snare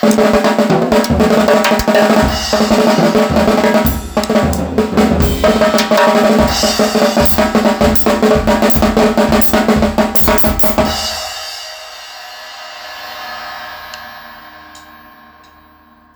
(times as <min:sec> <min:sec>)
0:00.0 0:11.2